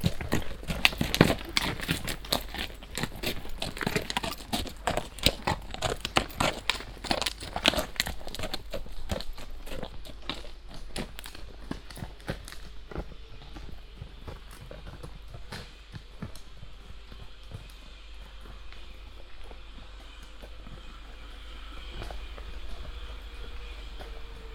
three horse riders that pass by 0.0 - 12.8
Walking in the forest 0.0 - 24.5
generator noise in the distance 0.0 - 24.5
people that glide downhill though the trees attached on steel ropes 0.0 - 24.5

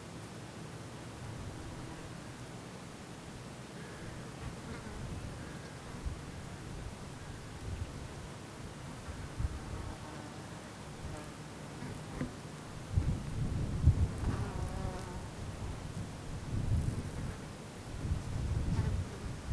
wind 0.0 - 19.5
buzzing insects 14.1 - 15.4

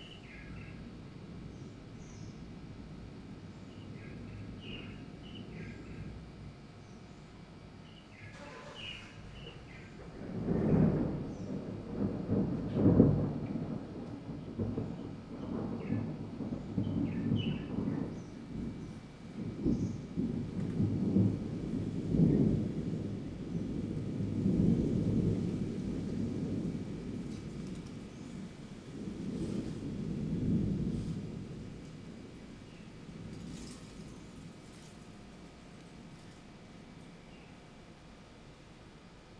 summer thunderstorm 7.6 - 38.4
Leaves are blown around by wind gusts 8.8 - 37.4

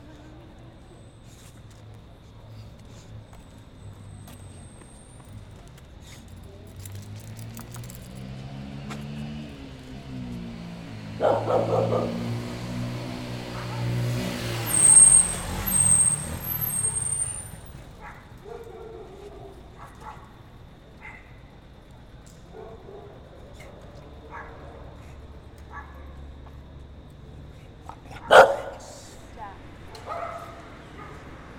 flujo de vehículos 0.0 - 18.0

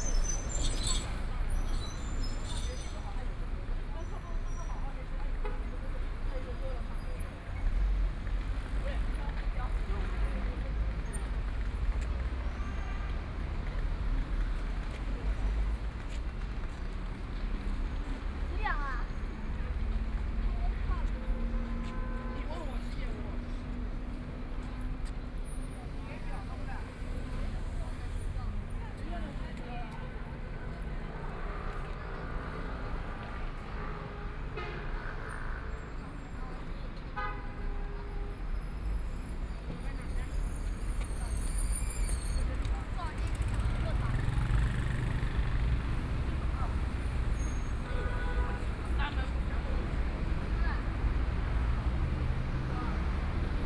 traffic sound 0.0 - 53.6

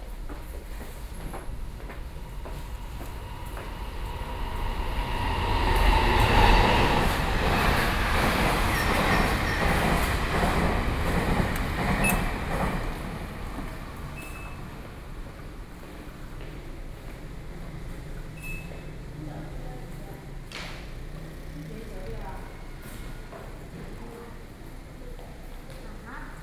elevator 8.0 - 15.3

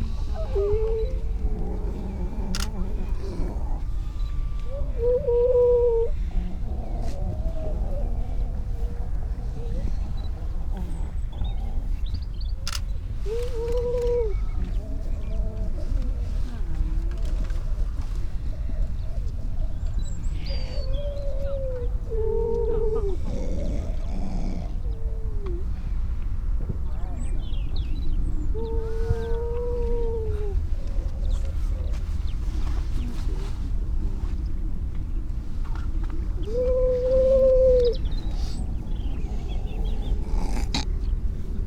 grey seals 0.0 - 26.2
grey seals 28.3 - 41.6

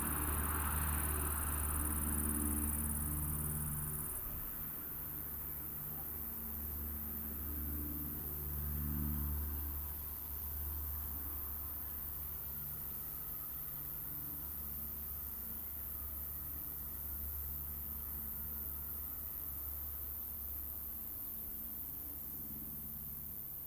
vehicle engine 0.0 - 5.0
air drones 0.0 - 6.9
Vibrant insects chorus 0.0 - 23.6

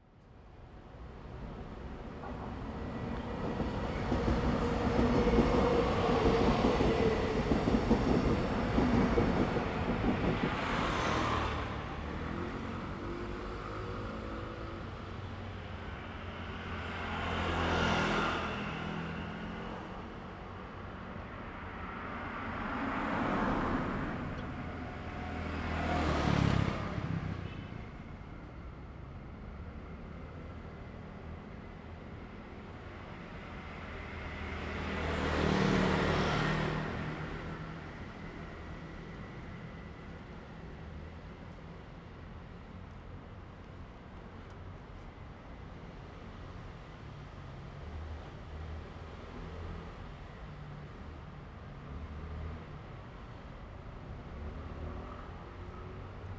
Traffic sound 0.1 - 56.3
Train traveling through 0.9 - 43.4

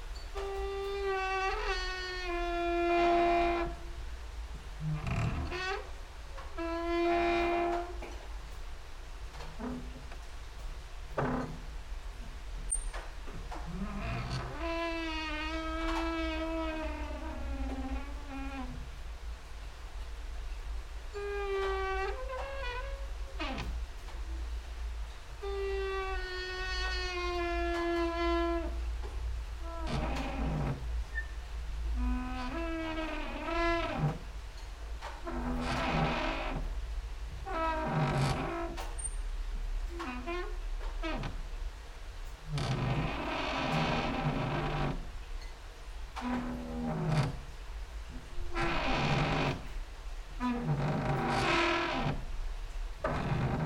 rain and drops outside 0.0 - 53.6
creaking with wooden doors 0.2 - 8.6
creaking with wooden doors 9.2 - 19.0
creaking with wooden doors 20.1 - 53.6

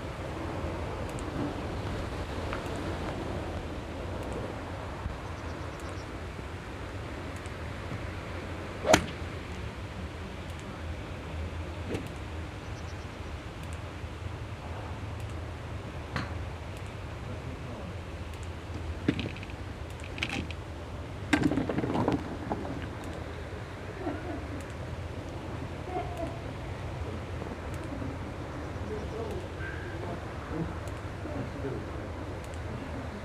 Wind movements 0.0 - 33.2
swings with different bats 8.8 - 9.2

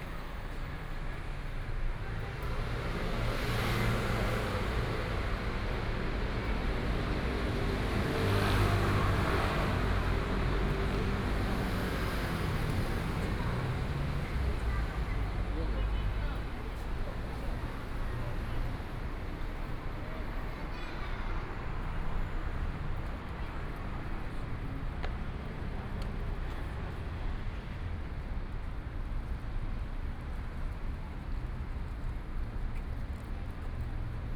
Traffic Sound 0.0 - 34.3
walking on the Road 0.0 - 34.3

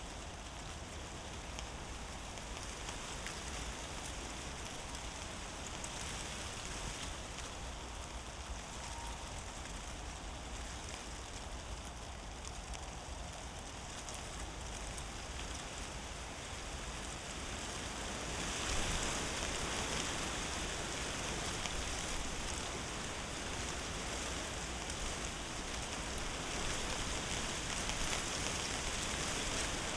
dry leaves rattling in the wind 0.0 - 29.9

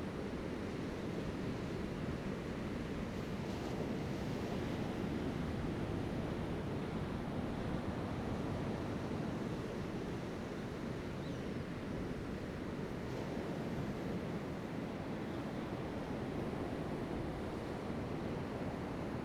waves 1.0 - 19.2

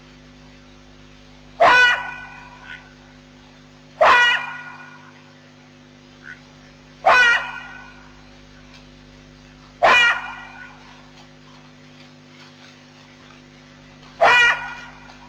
Jackal sounds 1.6 - 3.0
Jackal sounds 4.0 - 5.2
Jackal sounds 6.2 - 8.2
Jackal sounds 9.8 - 11.3
Jackal sounds 13.8 - 15.2

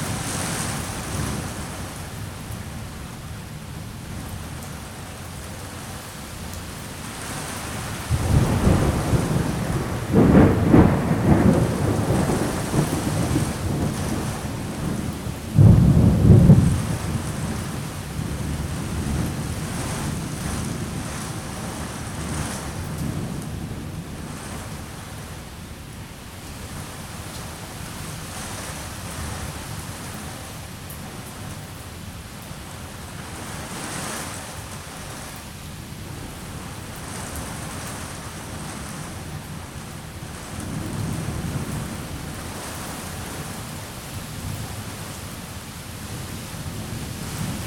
pattering rain on an balcony canopy 0.0 - 47.6
storm blows rain against houses and trees 0.0 - 47.6
growling thunder 8.1 - 17.6

